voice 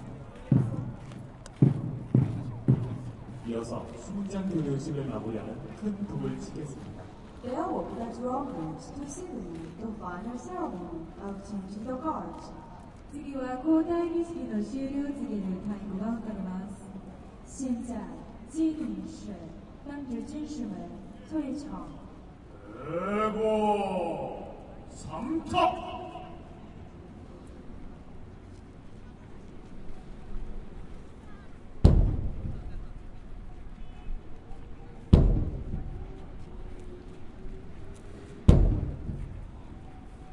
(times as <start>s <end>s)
22.7s 26.4s